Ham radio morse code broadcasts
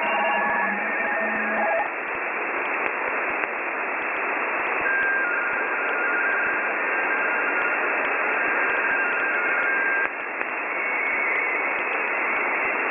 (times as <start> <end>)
0.0 1.9, 4.7 12.8